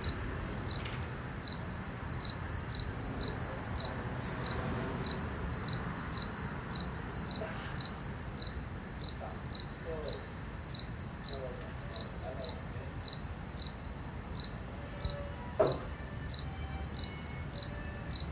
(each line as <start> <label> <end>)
0.0 Crickets 18.3
9.1 voices 10.4
11.2 voices 13.1
14.8 violin heard from about 40 meters 18.1